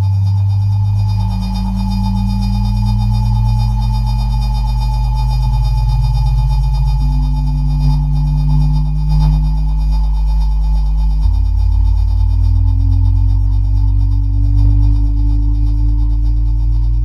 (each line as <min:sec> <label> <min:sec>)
0:00.0 generative music 0:17.0